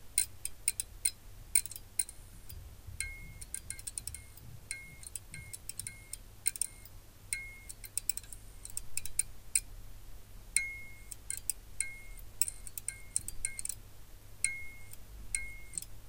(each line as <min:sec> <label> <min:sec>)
0:00.0 fluorescent lamp flickering 0:09.8
0:10.5 fluorescent lamp flickering 0:16.0